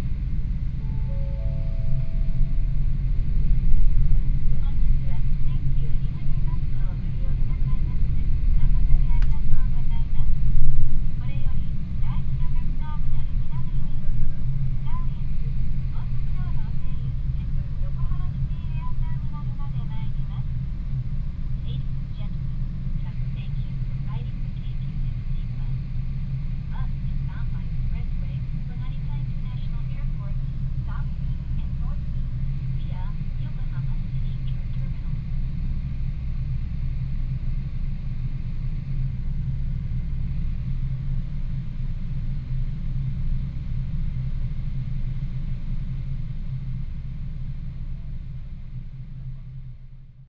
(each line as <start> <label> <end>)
0.8 announcement outside 2.8
4.5 announcement outside 10.3
11.2 announcement outside 15.3
15.9 announcement outside 20.5
23.0 announcement outside 25.8
26.7 announcement outside 35.3